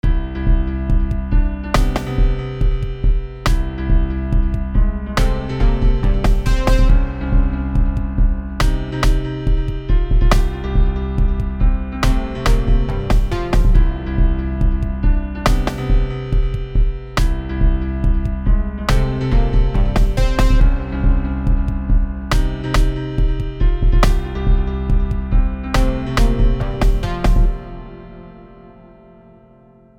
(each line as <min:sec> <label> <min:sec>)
0:00.0 Electronic music 0:29.5